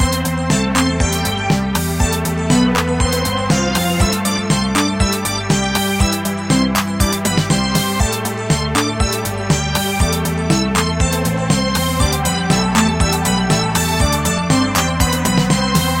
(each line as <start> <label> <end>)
0.0 Strings 16.0
0.0 synth 16.0
11.2 Choir 16.0